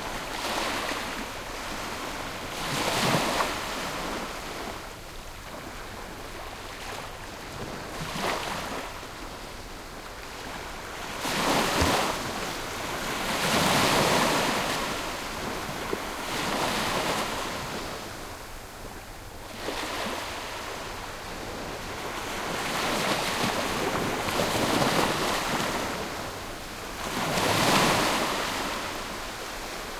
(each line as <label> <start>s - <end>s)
Calm sea waves 0.0s - 29.9s